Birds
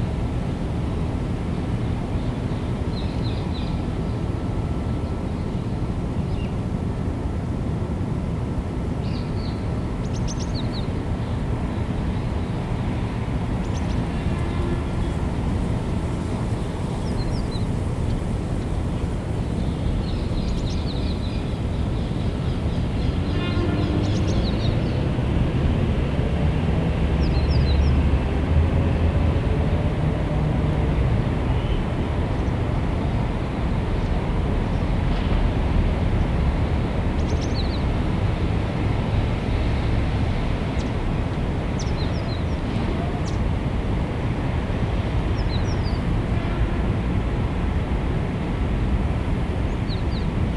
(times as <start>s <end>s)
9.0s 25.0s, 37.1s 38.0s, 41.7s 43.4s, 45.0s 46.1s, 49.7s 50.4s